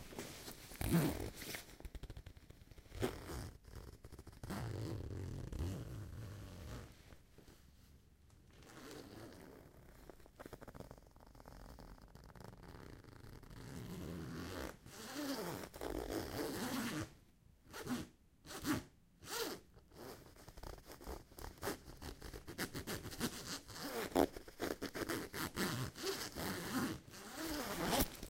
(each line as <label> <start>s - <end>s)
zipper 0.2s - 7.0s
zipper 8.6s - 17.1s
zipper 17.7s - 28.2s